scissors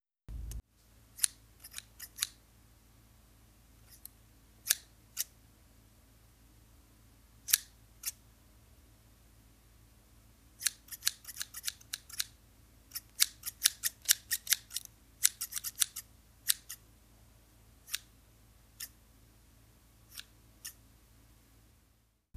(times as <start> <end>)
1.2 2.4, 3.9 5.3, 10.6 12.3, 12.9 16.8, 20.1 20.8